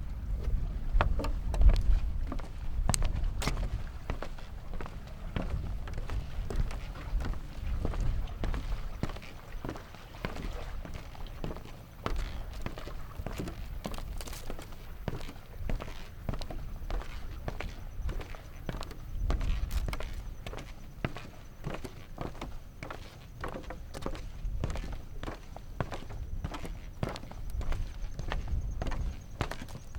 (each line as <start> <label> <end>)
0.0 worn sneakers on old, rickety, wooden boardwalk 29.9